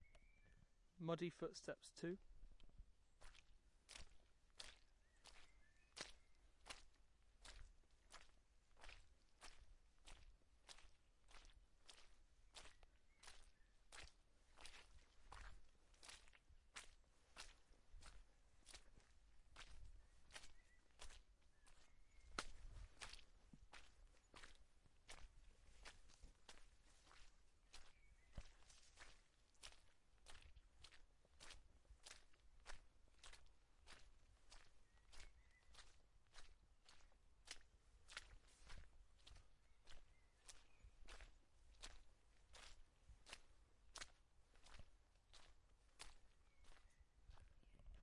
14.0s footsteps 34.0s

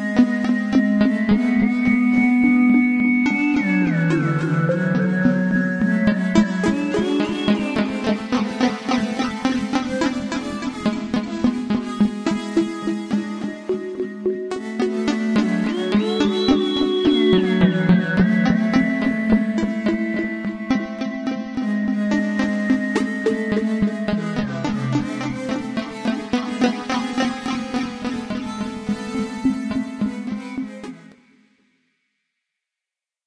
0.0s synth 31.2s

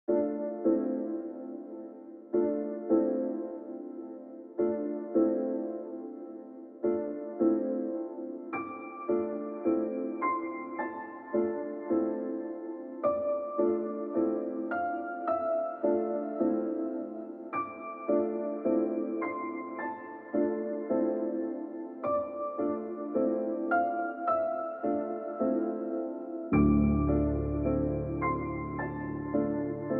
0.1s background piano 29.9s

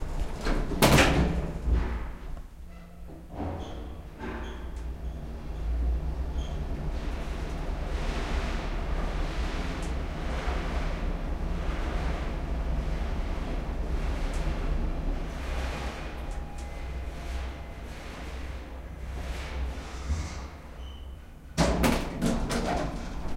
0.0s Elevator going down 23.3s
14.2s elevator door 23.3s

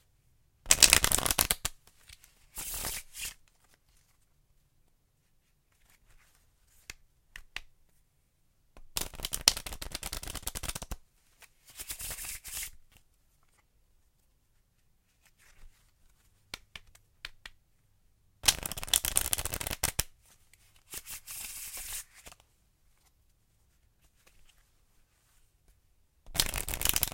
0.7s Cards Shuffling 4.2s
8.9s Cards Shuffling 13.6s
18.4s Cards Shuffling 20.1s
20.7s Cards Shuffling 22.4s
26.3s Cards Shuffling 27.1s

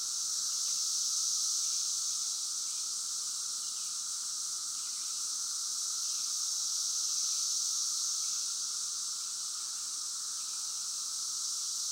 0.0s close group in a nearby tree 11.9s
0.0s distant roar of the cicadas 11.9s

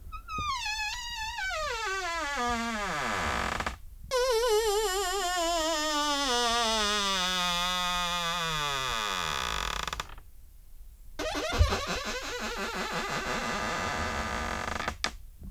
0.1s Wooden door creak 10.2s
11.2s Wooden door creak 15.2s

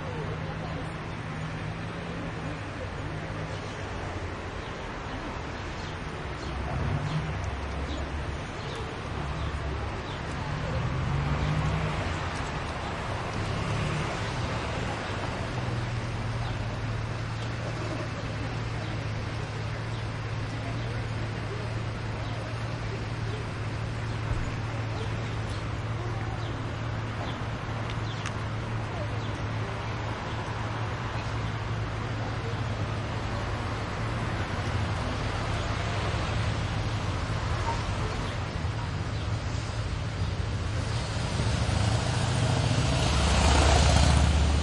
0.0s busy traffic 44.6s
0.0s distant voices 44.6s

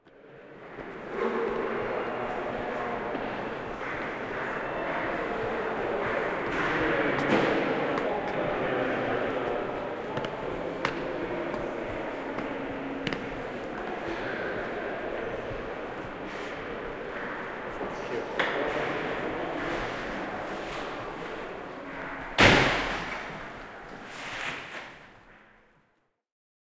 0.1s voices 24.1s
0.1s Footsteps on the great staircases 25.3s
0.1s background noise from ventilation and heating systems 25.8s
22.4s door 23.4s

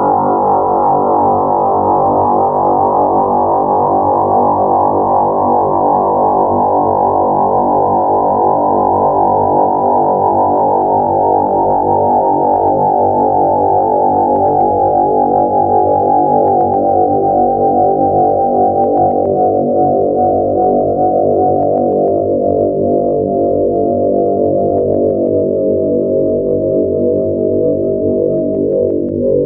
0.0s drone 29.4s

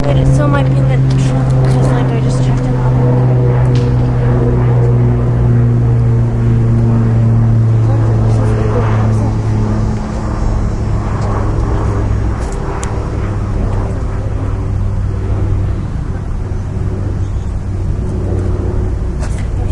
0.0s airplane 19.7s

